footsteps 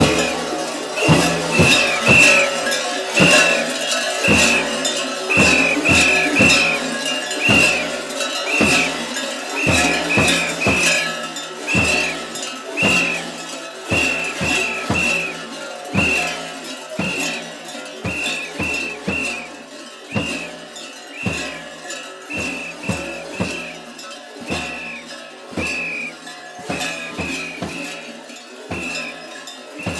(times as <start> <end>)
4.3 11.1, 18.0 20.6, 22.3 23.8, 24.5 28.1